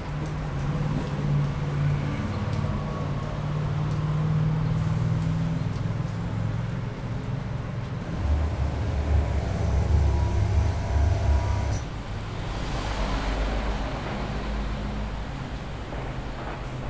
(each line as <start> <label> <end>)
0.0 traffic 16.8
0.0 water 16.8
5.6 Construction site noises 12.5
8.1 machines 12.0